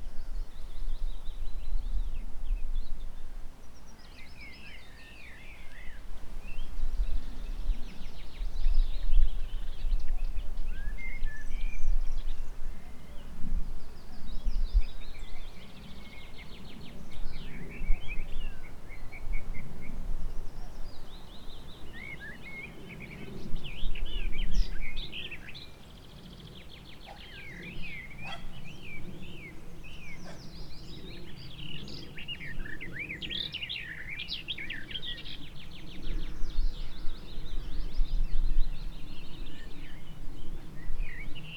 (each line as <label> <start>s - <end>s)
many birds 20.3s - 41.5s